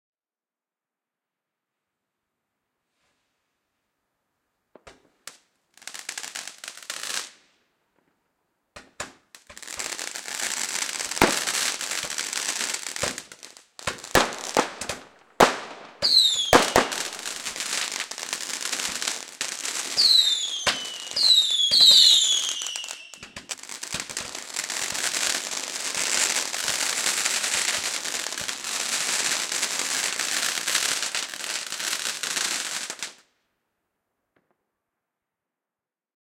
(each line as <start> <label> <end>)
4.8 crackle 33.4
8.8 shot candle barrage garden firework being set off 33.2
16.0 whistle 16.8
20.0 whistle 23.3